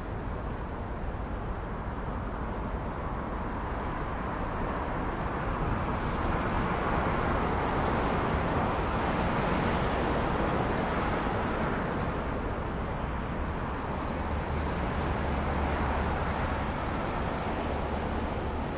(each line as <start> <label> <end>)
0.0 city hum 18.7
5.7 Car passing 18.7